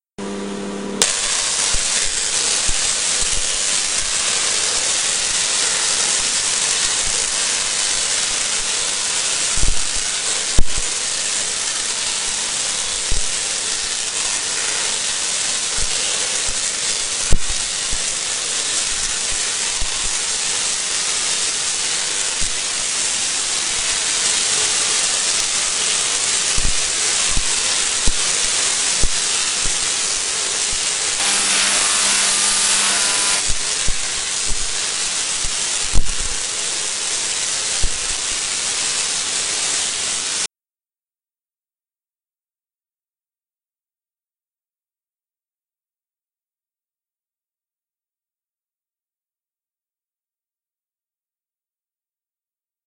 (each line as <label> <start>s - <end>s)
tesla coil with a discharge 1.0s - 40.5s